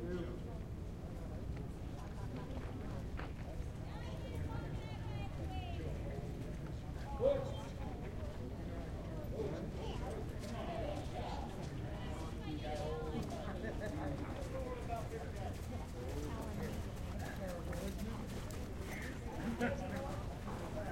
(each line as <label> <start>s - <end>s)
people discussing the horses 0.0s - 20.9s
horses warming up 6.0s - 20.9s